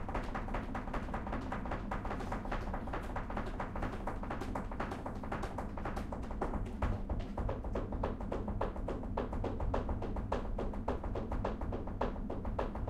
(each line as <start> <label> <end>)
0.0 flamenco dancer's heel rhythms 12.8